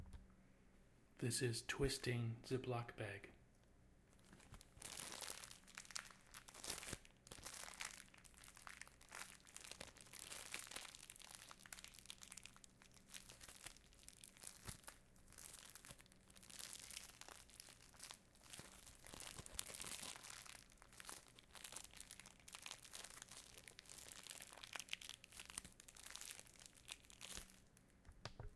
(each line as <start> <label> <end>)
4.2 Twisting Ziplock bag 27.8